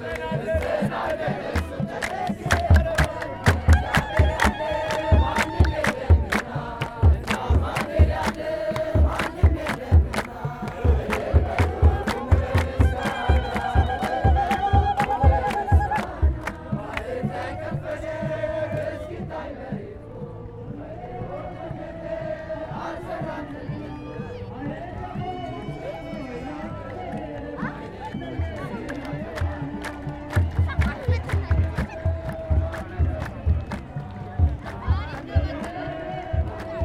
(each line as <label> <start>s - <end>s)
chantent a cappella 0.0s - 36.8s
jouent successivement du tambour 0.0s - 36.8s